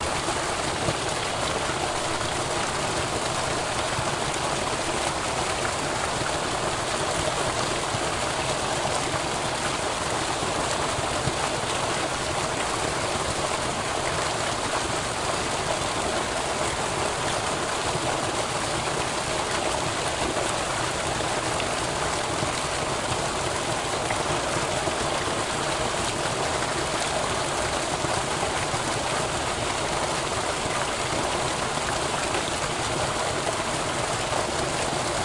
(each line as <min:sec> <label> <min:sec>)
0:00.0 Gurgle of pour out water into lake 0:35.2